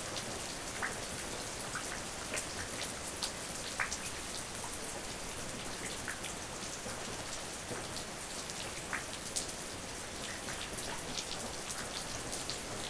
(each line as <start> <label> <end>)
0.0 rain outside 12.8